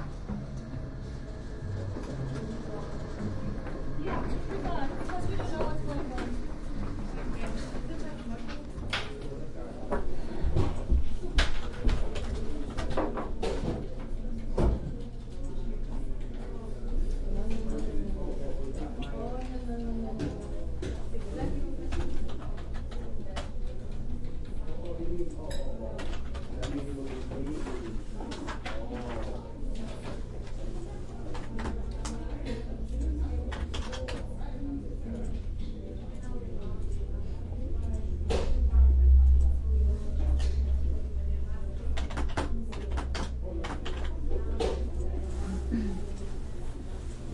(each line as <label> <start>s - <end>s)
voices 0.0s - 47.3s
printer 0.0s - 5.3s
typing 33.5s - 34.3s
typing 42.0s - 44.1s